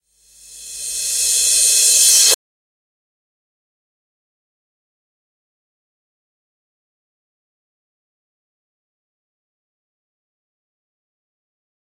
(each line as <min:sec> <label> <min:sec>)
0:00.2 Reverse Cymbals 0:02.4